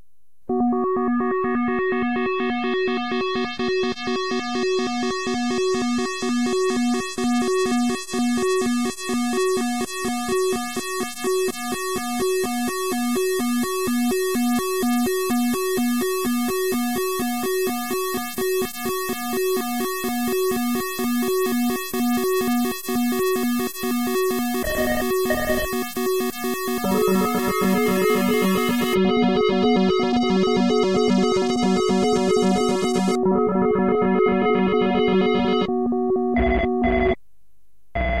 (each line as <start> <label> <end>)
24.6 scifi alarm 26.0
26.7 scifi alarm 29.0
36.4 scifi alarm 37.2